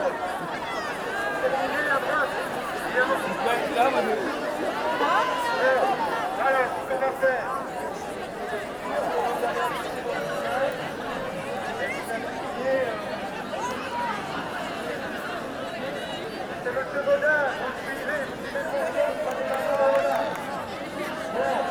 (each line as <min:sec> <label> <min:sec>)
0:00.0 students 0:16.8